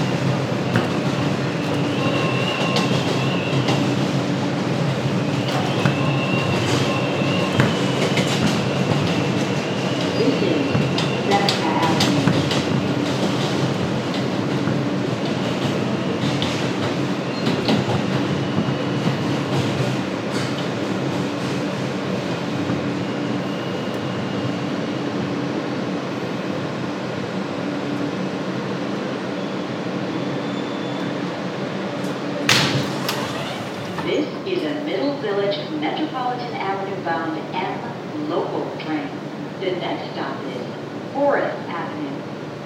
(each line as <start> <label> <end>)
0.0 Train announcements 22.3
0.0 M Train 42.6
0.0 wind inside the M train 42.6
32.0 Train announcements 42.6